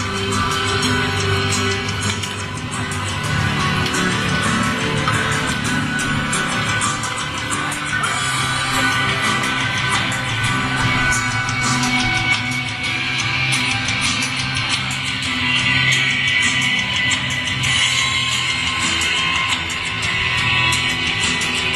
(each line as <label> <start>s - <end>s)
crowds 0.0s - 21.7s